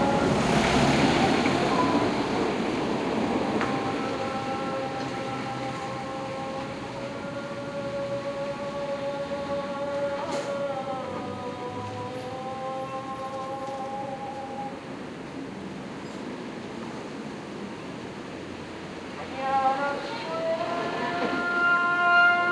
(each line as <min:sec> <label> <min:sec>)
0:00.0 people passing 0:14.6
0:00.0 call to prayer 0:14.8
0:00.0 traffic 0:22.5
0:19.2 call to prayer 0:22.5